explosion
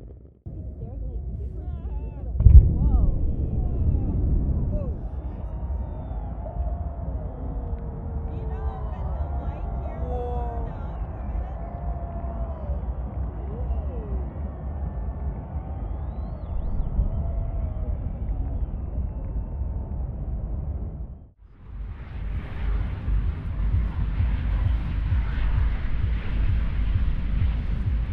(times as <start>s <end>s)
2.4s 7.8s